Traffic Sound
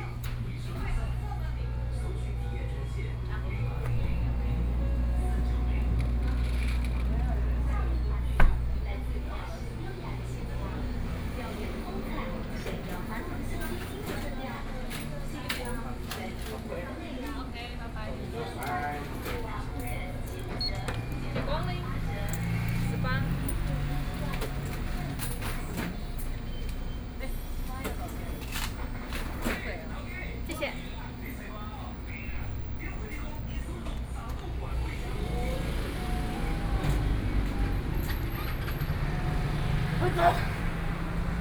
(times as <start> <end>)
19.9 27.6, 32.3 41.4